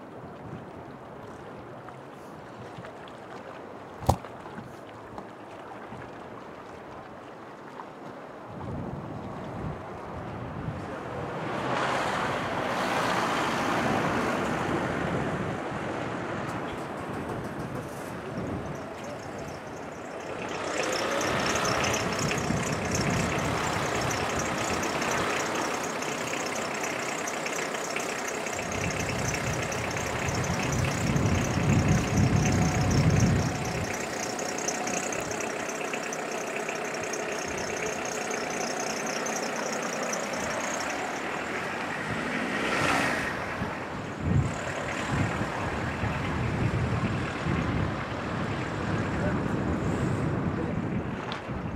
vehiculos 16.6 - 48.8

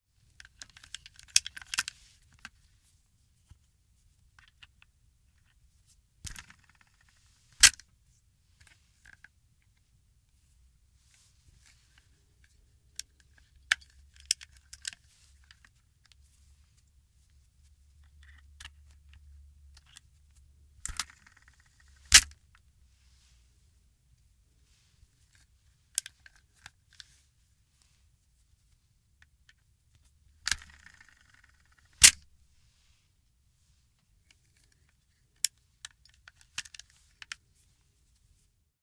spinning it shut 30.4 - 32.2

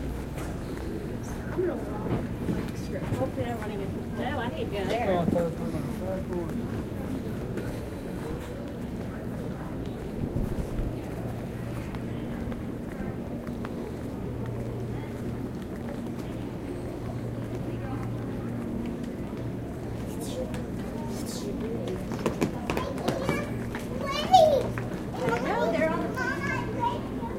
children passing by and talking 0.0 - 27.3
pilots and flight attendant conversation 0.7 - 10.2
pilots and flight attendant conversation 10.8 - 27.3

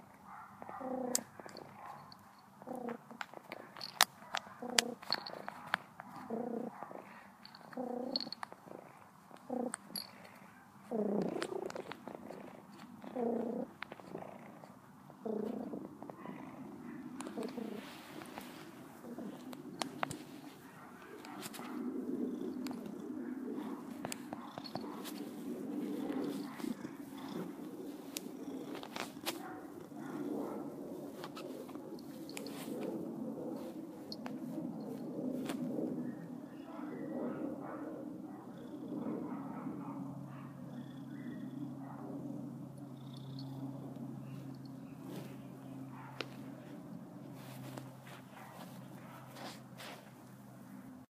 Cat Purr 0.6 - 50.0

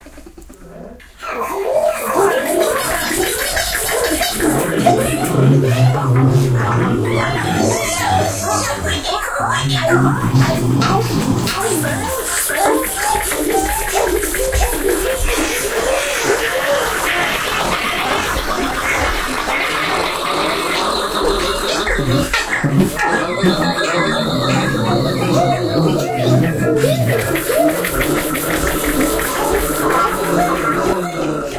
Alien Voices 0.0 - 31.5

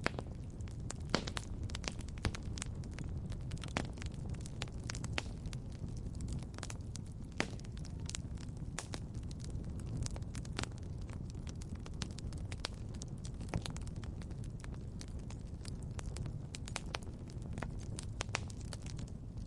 campfire 0.0 - 19.4

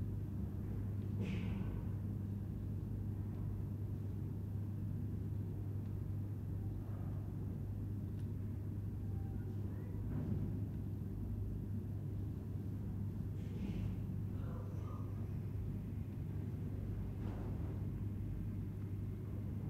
Room tone 6.4 - 10.2

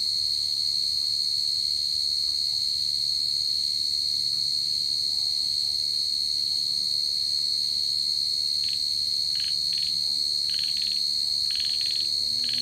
Cicadas 0.1 - 12.6
Frogs 8.6 - 12.6

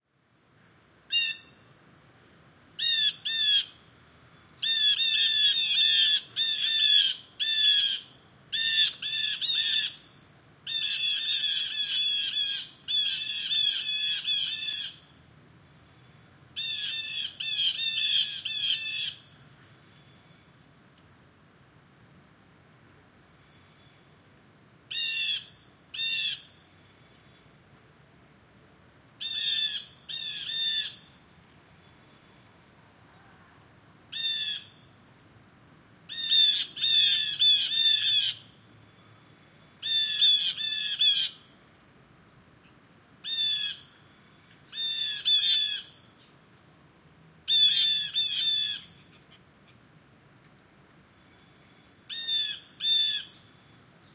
Blue Jay calls 1.1 - 1.7
Blue Jay calls 2.8 - 3.9
Blue Jay calls 4.6 - 15.1
Blue Jay calls 15.8 - 20.4
Blue Jay calls 24.9 - 27.5
Blue Jay calls 29.2 - 31.2
Blue Jay calls 34.1 - 34.9
Blue Jay calls 36.1 - 41.6
Blue Jay calls 42.6 - 46.4
Blue Jay calls 47.5 - 49.8
Blue Jay calls 51.2 - 54.1

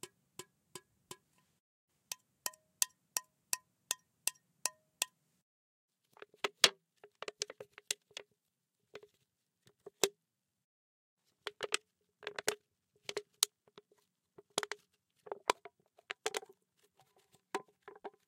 Handling Can 14.5 - 18.2

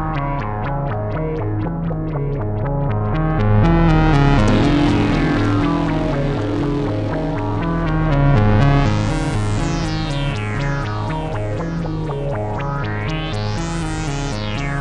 synth 3.6 - 14.8

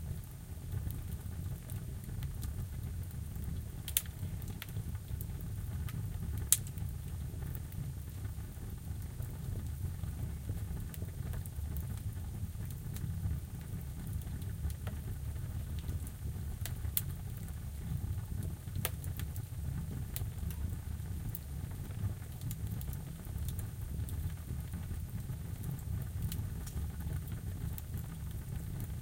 Wood fire in a steel oven 0.0 - 29.0

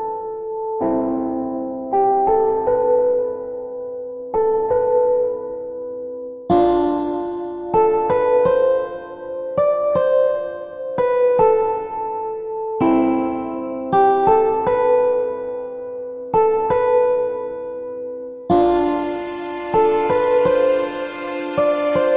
Piano 0.0 - 22.1
cello 18.5 - 22.1

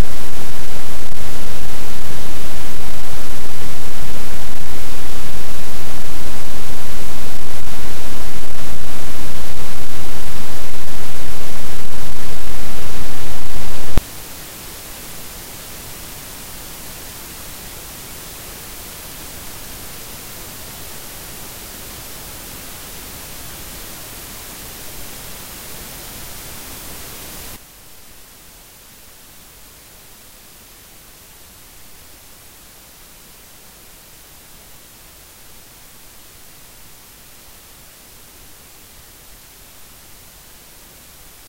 Computer Noise WiFi and Soundcard 0.0 - 28.1

